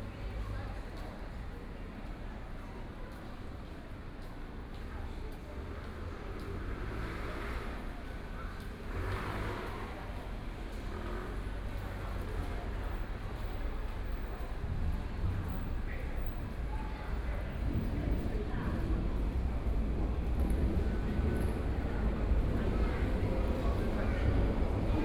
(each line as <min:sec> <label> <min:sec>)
0:00.0 crowd 0:25.0
0:09.6 MRT train stops on the track 0:25.0